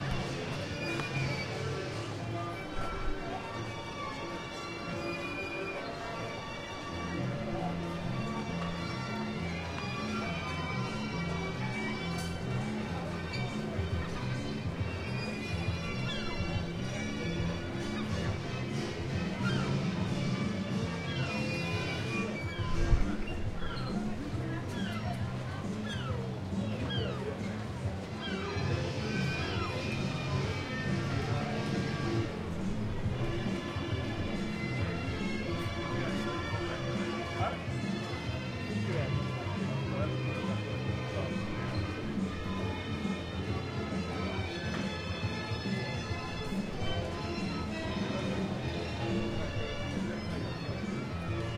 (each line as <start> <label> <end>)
0.0 people 51.5